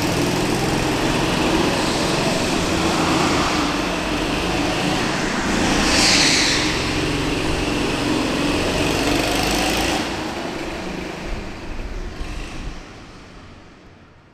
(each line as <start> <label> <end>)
0.0 indoor kart circuit 14.3